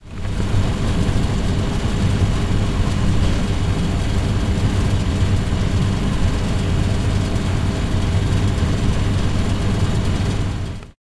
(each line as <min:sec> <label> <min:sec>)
0:00.0 Cooling system of a water fountain 0:11.0